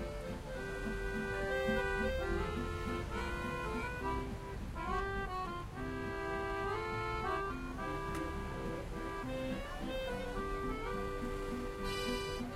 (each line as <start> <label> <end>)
0.0 accordion 12.5
0.0 guitar 12.5
0.0 pedestrian 12.5